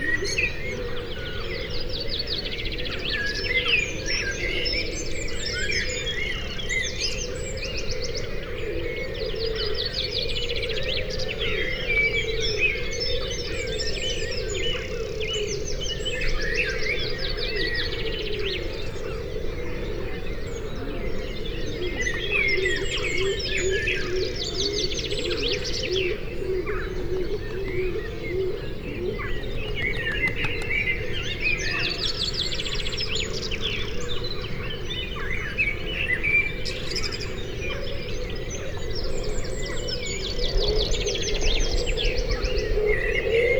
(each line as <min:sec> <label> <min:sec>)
0:26.6 bird calls 0:33.6